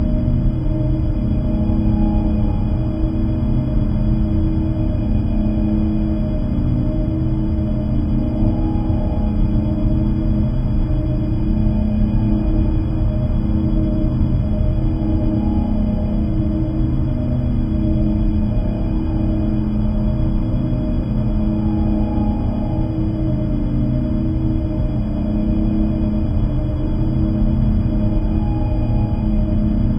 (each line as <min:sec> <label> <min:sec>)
0:00.0 Turbine 0:29.9